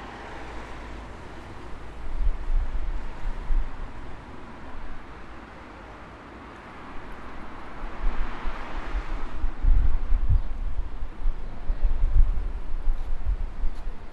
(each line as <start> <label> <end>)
0.0 vehicles 14.1